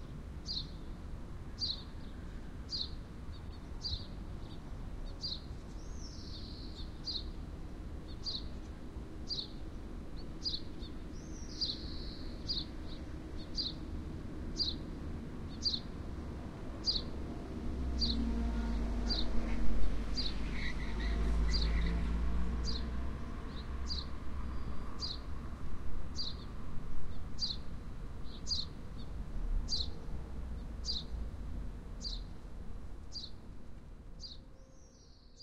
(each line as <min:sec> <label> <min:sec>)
0:08.1 birds 0:13.9
0:11.6 cars 0:26.5
0:20.2 birds 0:25.3
0:28.2 birds 0:30.0